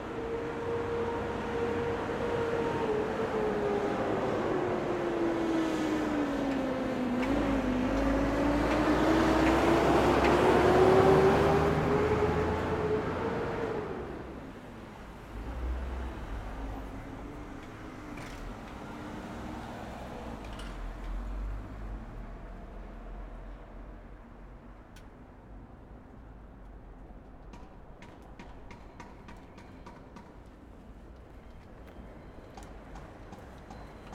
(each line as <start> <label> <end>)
0.0 Traffic sounds 34.1